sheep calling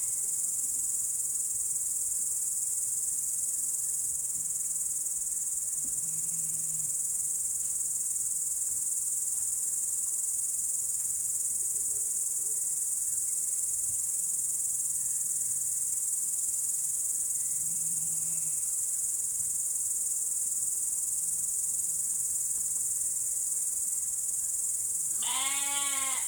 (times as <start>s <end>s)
25.2s 26.2s